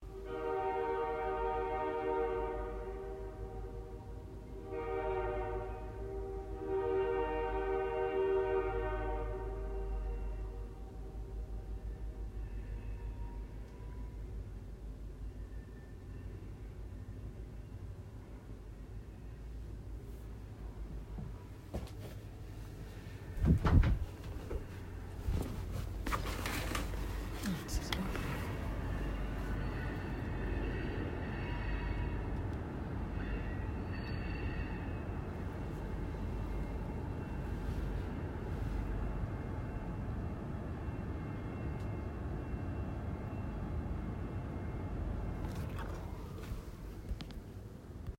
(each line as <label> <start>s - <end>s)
Train whistle in the distance 0.0s - 14.4s
Train whistle in the distance 27.8s - 45.1s